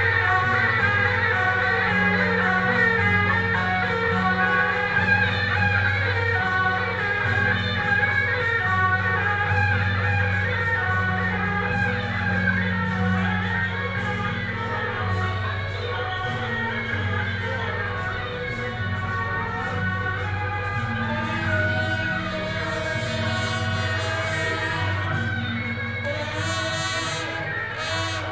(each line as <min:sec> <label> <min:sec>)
0:00.0 Traditional temple festivals 0:28.3